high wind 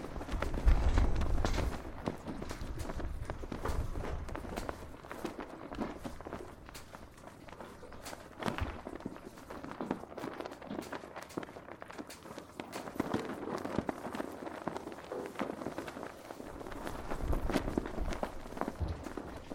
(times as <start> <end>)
0.0 9.3